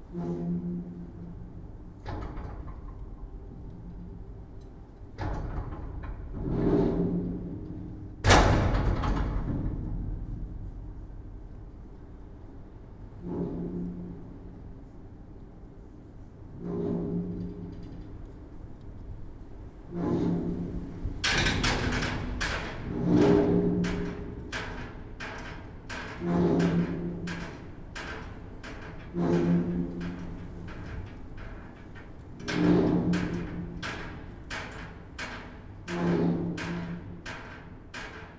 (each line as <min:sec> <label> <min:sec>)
0:00.0 wind 0:38.3
0:08.2 slamming door 0:09.9